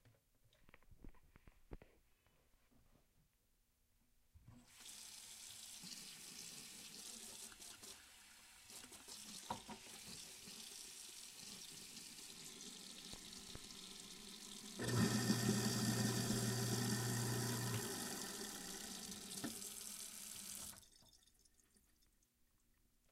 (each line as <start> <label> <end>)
4.7 kitchen sink running 21.3
12.1 garbage disposal being turned on then off 20.9